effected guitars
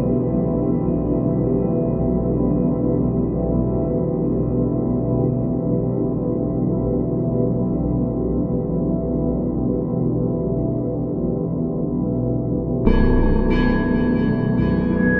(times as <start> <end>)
12.9 15.1